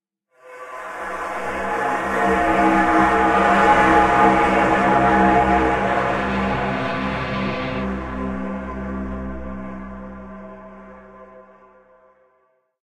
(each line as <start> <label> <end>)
0.8 tenor choir voice 8.9